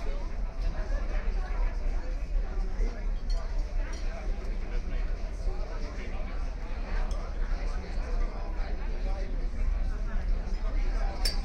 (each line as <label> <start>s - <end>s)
crowd 0.0s - 11.4s